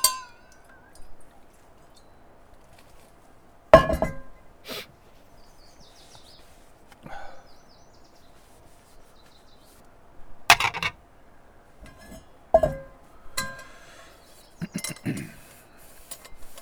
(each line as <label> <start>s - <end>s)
clean-up after dinner 4.7s - 4.9s
clean-up after dinner 10.5s - 11.0s